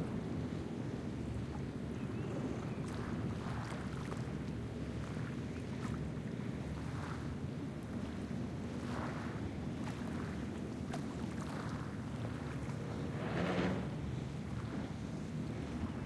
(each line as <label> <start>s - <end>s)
Boats passing by 0.0s - 16.0s
gentle rush of the laguna 0.0s - 16.0s
Waves splashing and crashing on the shore 11.0s - 16.0s